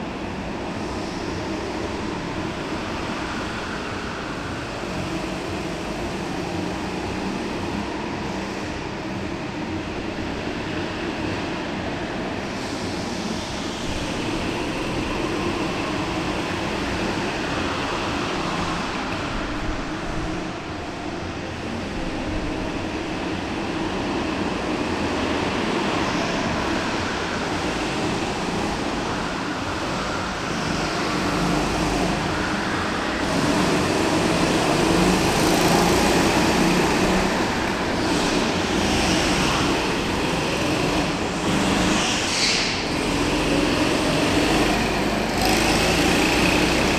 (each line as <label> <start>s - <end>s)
indoor kart circuit 0.0s - 46.9s